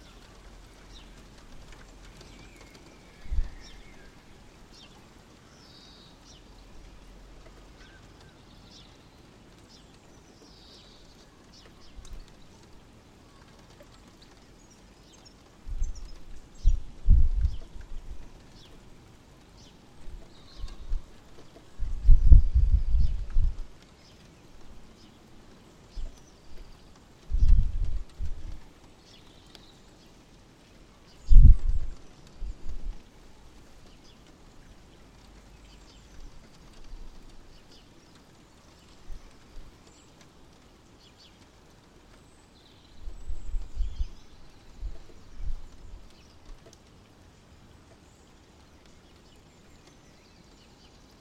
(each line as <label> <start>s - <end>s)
Birdsongs 0.0s - 51.2s
Rain on the window 0.0s - 51.2s
wind noise 3.0s - 4.2s
wind noise 15.6s - 18.8s
wind noise 20.0s - 23.8s
wind noise 25.9s - 28.8s
wind noise 31.2s - 33.1s
wind noise 42.9s - 46.6s